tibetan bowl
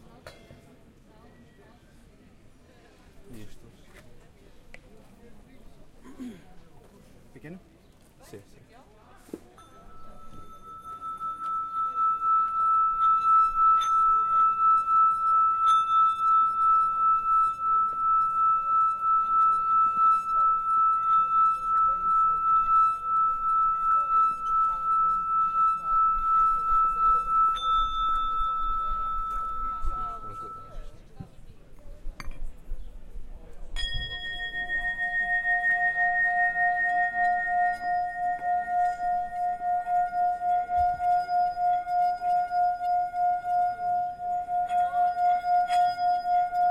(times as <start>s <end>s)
9.5s 46.7s